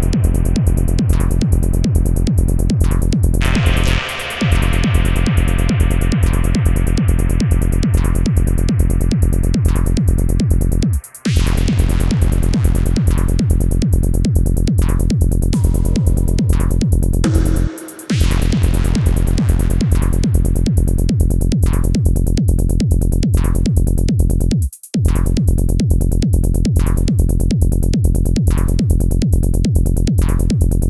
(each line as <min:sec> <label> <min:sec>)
0:00.0 PSYTRANCE 0:13.4
0:15.6 PSYTRANCE 0:19.7